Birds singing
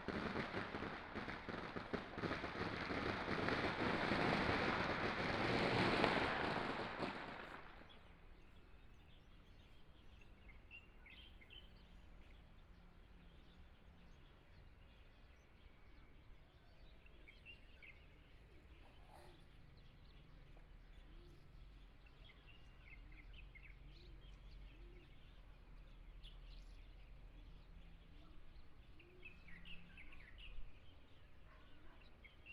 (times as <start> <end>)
7.4 32.5